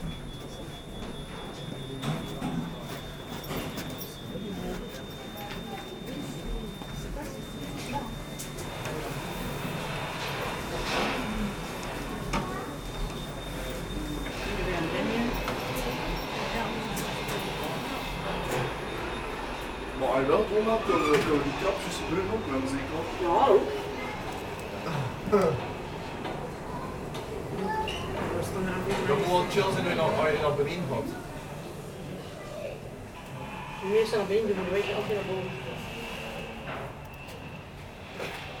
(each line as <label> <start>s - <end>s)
people waiting at the low station 0.0s - 38.6s